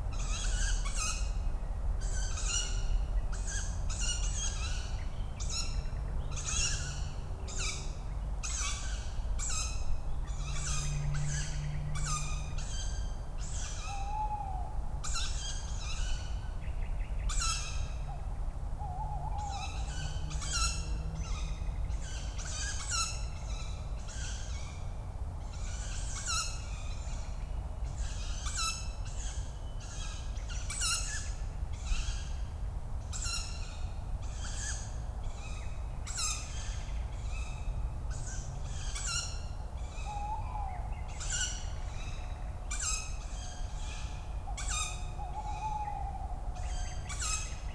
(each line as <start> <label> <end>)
39.9 young Tawny owls calling 41.6
42.7 young Tawny owls calling 47.6